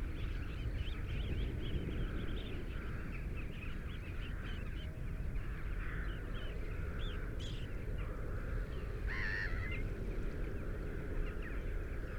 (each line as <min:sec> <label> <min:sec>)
0:07.1 crow 0:09.8